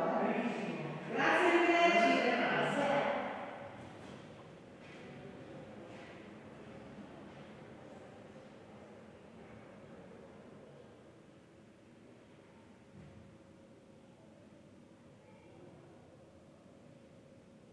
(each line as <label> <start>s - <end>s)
her voice echoing down the marble corridor 0.0s - 3.6s